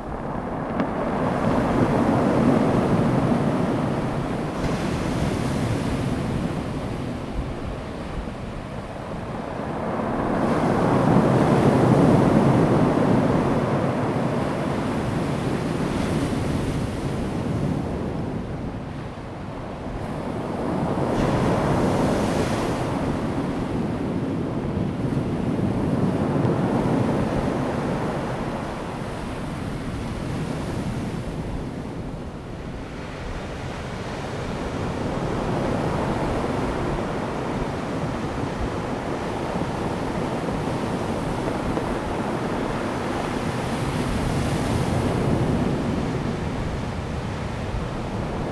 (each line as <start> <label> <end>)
0.0 waves 48.5